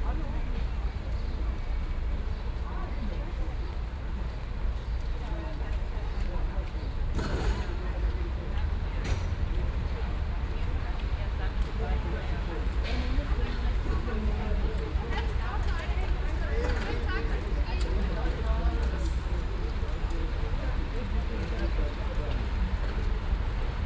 0.0s rainy day 23.8s

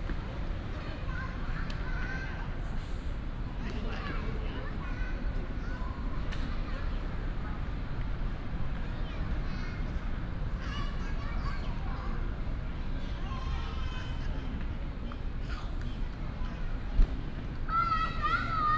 0.0s Traffic sound 18.7s
0.7s Child 2.6s
4.0s Child 7.1s
8.8s Child 14.8s
15.5s Child 18.7s

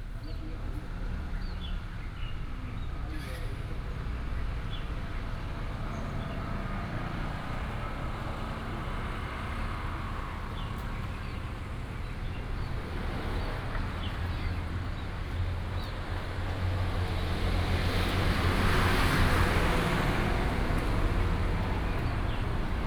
0.0s Traffic sound 22.8s

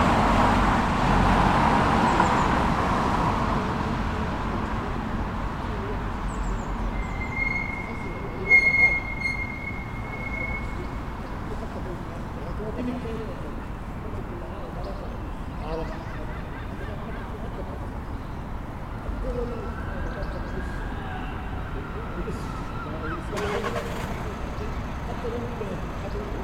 0.0s workers leaving the office 18.7s
1.6s two men who were discussing something quite important 26.4s
10.8s kids somewhere in far back that were just hanging out together 22.1s

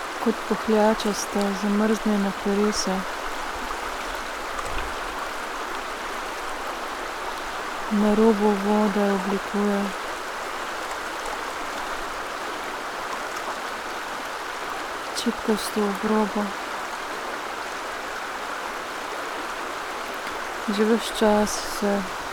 0.0s river 22.3s

